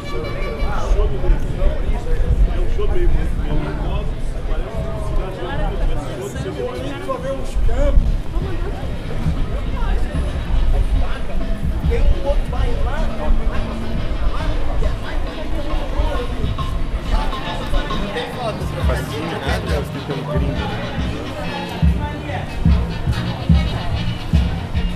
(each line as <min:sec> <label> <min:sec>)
0:00.0 street band reharsing 0:24.9
0:00.0 street musicians 0:24.9